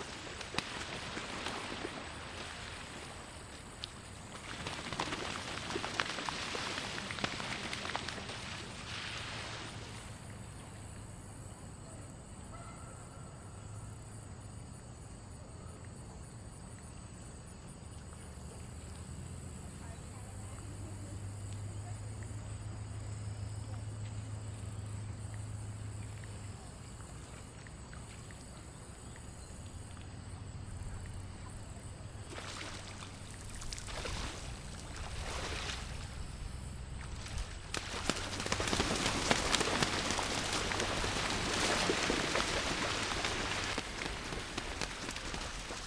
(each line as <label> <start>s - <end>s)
Canadian Geese slapdown 37.2s - 45.8s